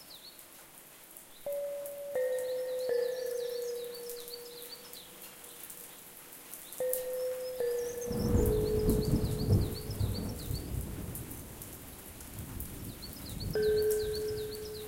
rain 0:00.0 - 0:14.8
birds 0:01.2 - 0:14.8
thunder 0:08.1 - 0:13.6

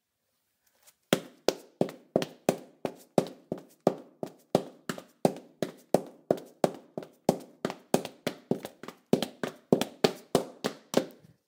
Female in heels running on tile 0:00.8 - 0:11.4

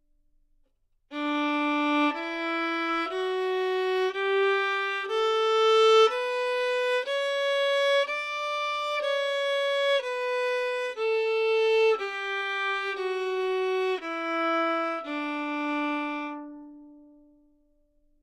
violin 0:01.1 - 0:17.5

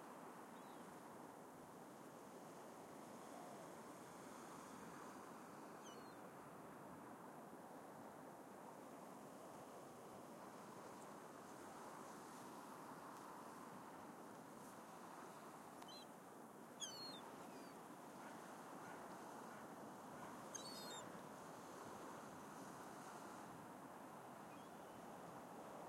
waves 0:00.0 - 0:25.8
wind 0:00.0 - 0:25.8

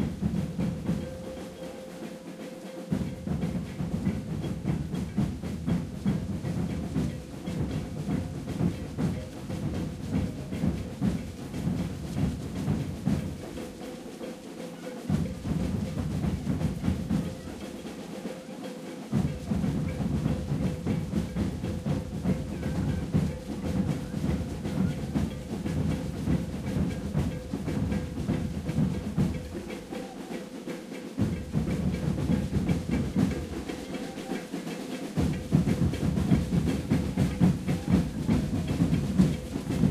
alfaia 0:00.0 - 0:39.9
dancing 0:00.0 - 0:39.9
ganza 0:00.0 - 0:39.9
singing 0:29.4 - 0:31.4
singing 0:33.3 - 0:35.2

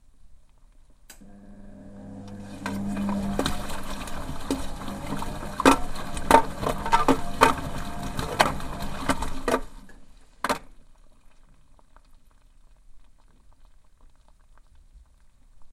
masching machine motor 0:01.2 - 0:09.8
water 0:01.3 - 0:15.7

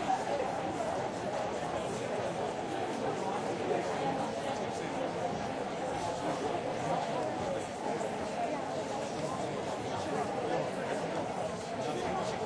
murmur 0:00.0 - 0:12.4

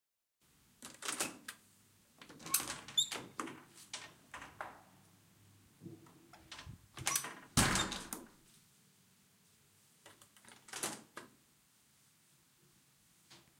Door open and close 0:02.2 - 0:04.9
Door open and close 0:05.8 - 0:08.3

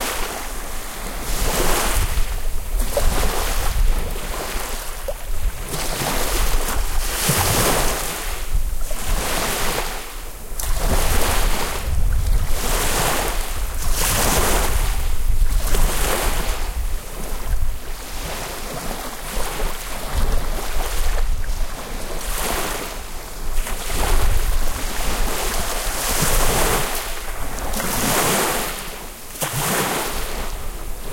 Waves in the bay 0:00.0 - 0:31.1

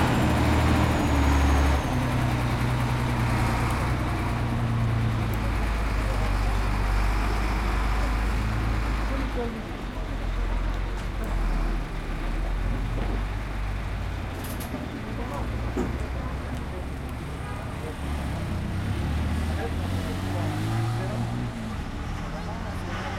people 0:00.0 - 0:23.1
traffic 0:00.0 - 0:23.1

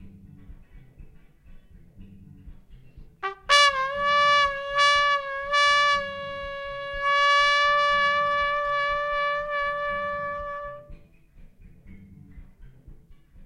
trumpet 0:03.2 - 0:11.1

